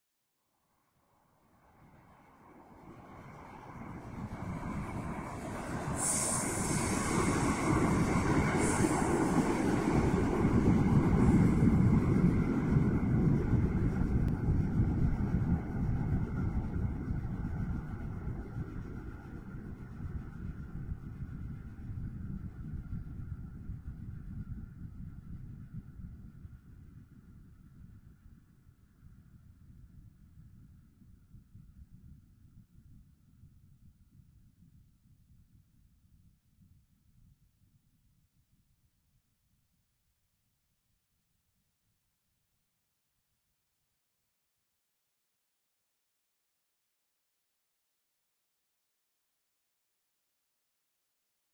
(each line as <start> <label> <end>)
1.8 train from other lands passes by 19.9